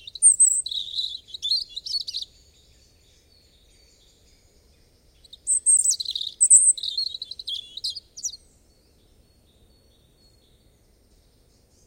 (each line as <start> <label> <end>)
0.0 robin 11.8